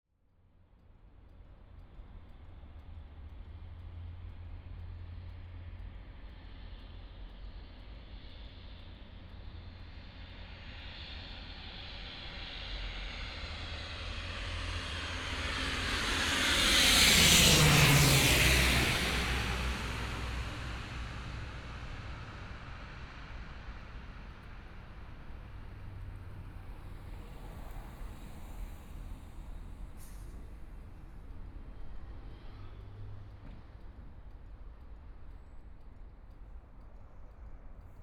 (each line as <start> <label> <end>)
12.1 Aircraft flying through 23.7